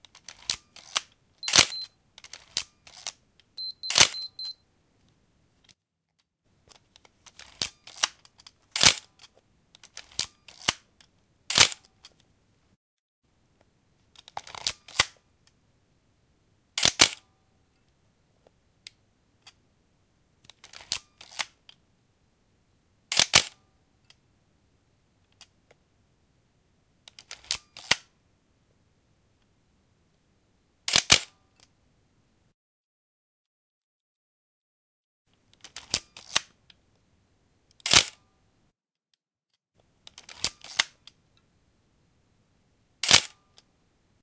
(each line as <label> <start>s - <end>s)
shutter release 0.4s - 4.6s
shutter release 43.0s - 43.4s